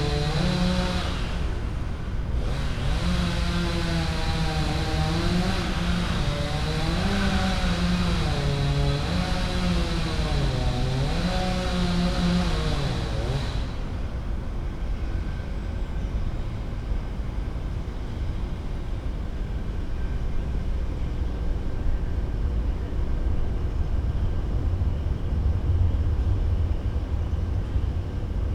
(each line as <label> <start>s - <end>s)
man working a power saw, cutting a fallen tree 0.0s - 14.2s